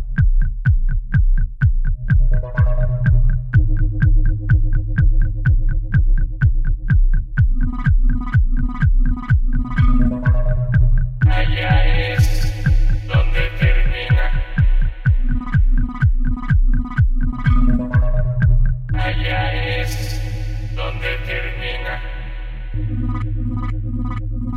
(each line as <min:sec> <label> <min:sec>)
0:00.0 drum 0:18.9
0:00.0 bass 0:24.5
0:07.6 synth 0:24.5
0:11.2 lovely vocal 0:15.6
0:18.9 lovely vocal 0:23.7